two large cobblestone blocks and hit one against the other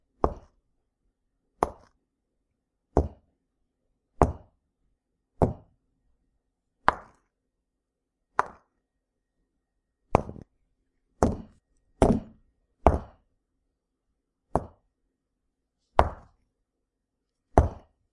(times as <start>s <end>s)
0.2s 0.6s, 1.6s 2.0s, 2.9s 3.3s, 4.2s 4.6s, 5.4s 5.8s, 6.8s 7.3s, 8.4s 8.8s, 10.1s 10.5s, 11.2s 13.3s, 14.5s 14.9s, 16.0s 16.4s, 17.5s 18.0s